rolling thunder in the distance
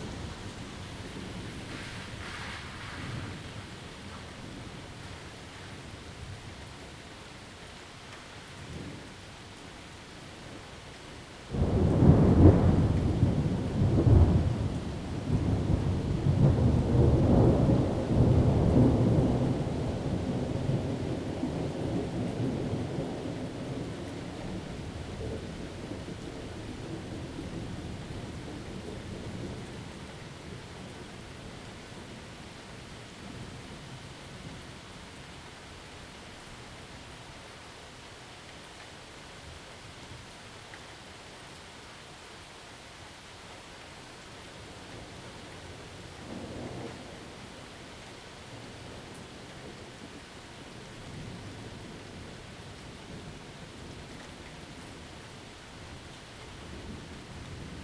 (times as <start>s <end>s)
0.0s 5.2s, 11.5s 32.4s, 46.1s 47.7s